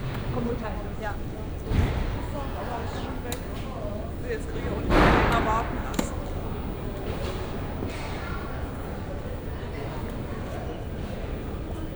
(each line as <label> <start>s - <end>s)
tired and nervous people waiting 0.0s - 11.9s